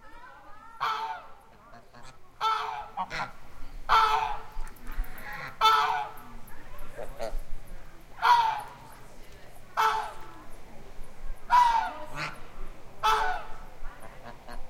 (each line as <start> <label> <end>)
0.5 Geese honking 7.4
8.2 Geese honking 9.0
9.8 Geese honking 10.4
11.5 Geese honking 14.6